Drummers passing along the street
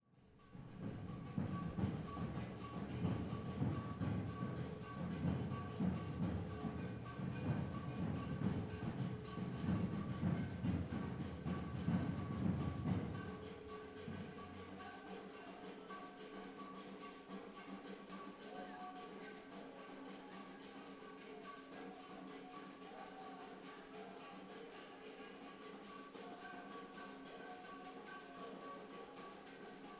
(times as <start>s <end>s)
0.6s 20.0s